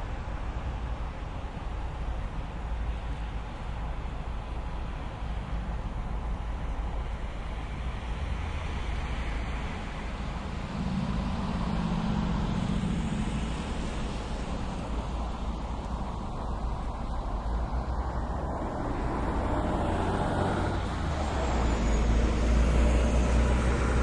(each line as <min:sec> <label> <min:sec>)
0:00.0 distant traffic 0:24.0
0:09.8 Busses arriving and departing 0:24.0